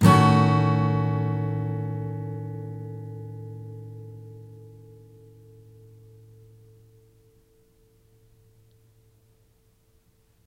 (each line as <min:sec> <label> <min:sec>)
0:00.0 Chords strummed with a metal pick 0:09.2